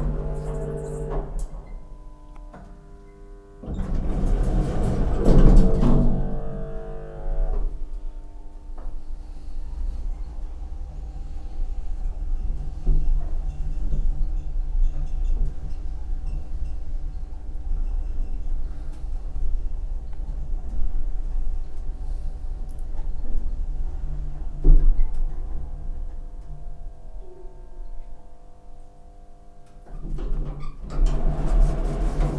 0.0s a drive with the elevator 2.7s
3.6s a drive with the elevator 8.0s
29.8s a drive with the elevator 32.3s

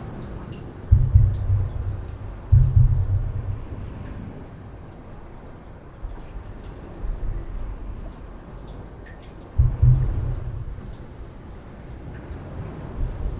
0.0s main street of the town through it 13.3s

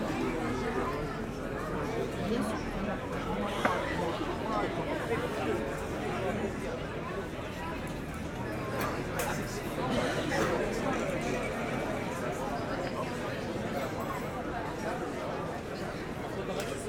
0.0s a lot of people are in the bars, drinking 16.8s

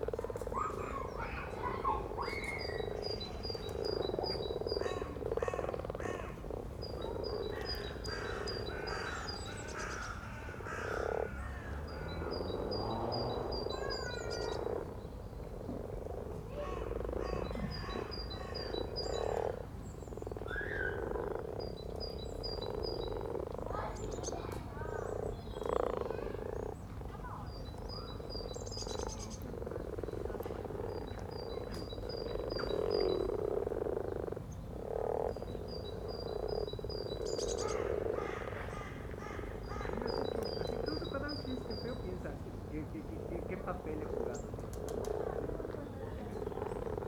0.0s mating frogs 47.0s
0.3s kids playing in the playground 3.7s
7.1s kids playing in the playground 15.5s
16.3s kids playing in the playground 18.6s
23.5s kids playing in the playground 32.0s

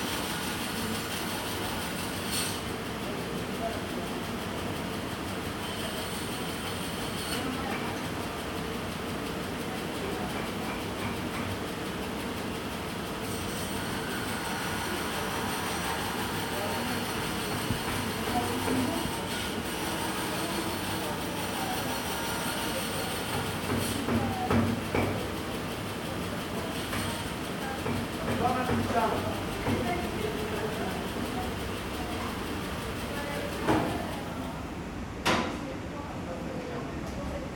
15.0s voices 34.8s

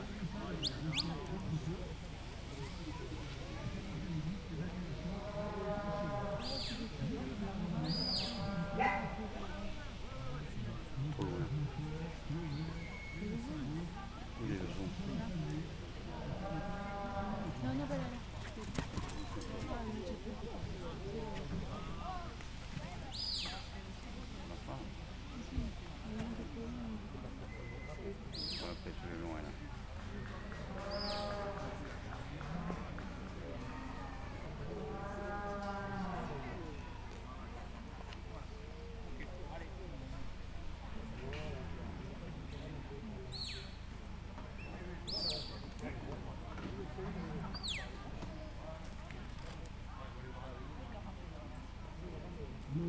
0.0s chiens de troupeaux 52.8s

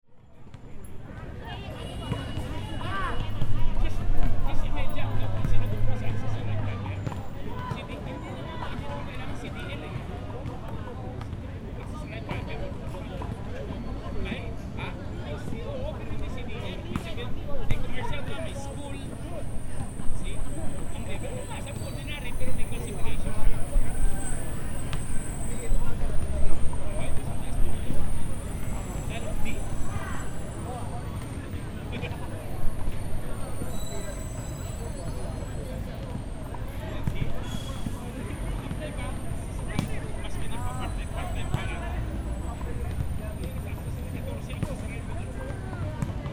0.0s physical and social activity by park goers 46.3s

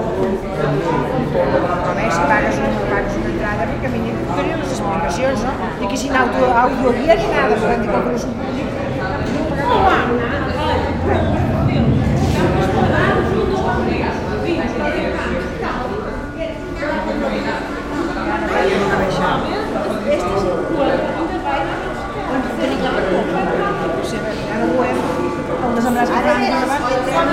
0.0s People waiting at funicular 27.3s

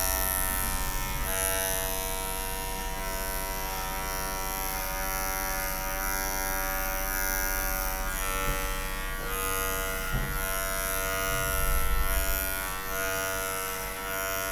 0.0s hairdressing 14.5s

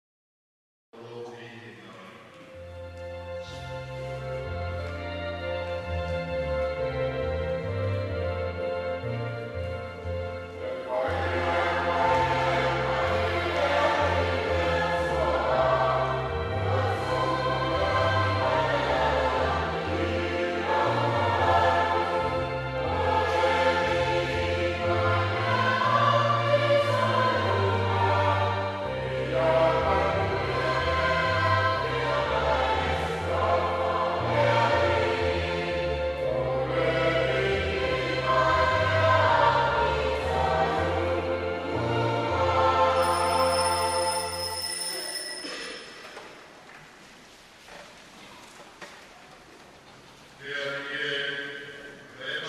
1.0s Speech 2.5s
4.3s Service Song 45.7s
50.4s Speech 51.6s
52.2s Speech 52.4s

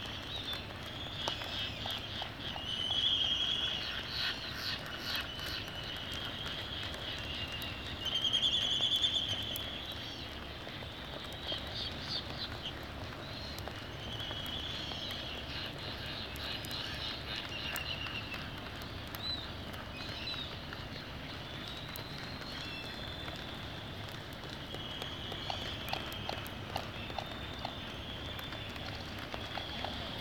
0.1s black-footed albatross 9.5s
13.6s black-footed albatross 30.2s
22.1s laysan albatross 30.2s

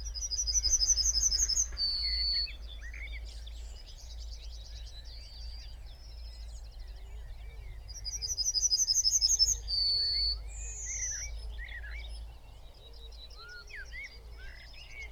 0.0s pheasant 5.1s

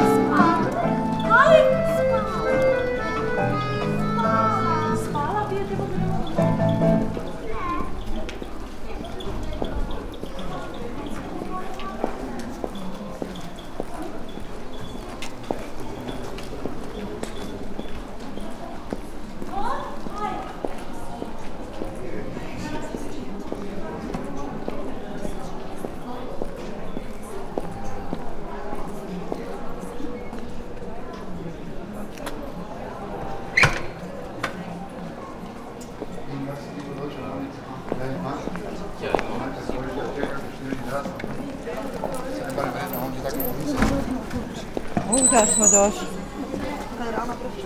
0.0s street musician 8.1s
0.0s walking 22.0s
0.0s people passing by 47.6s

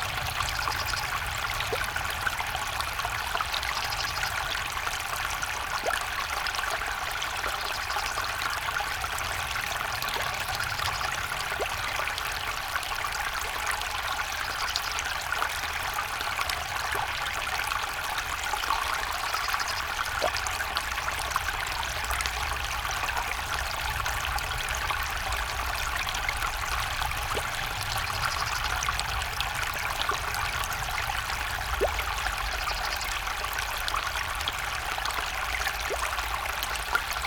0.0s Water from ditch drains into canal pipe 37.2s

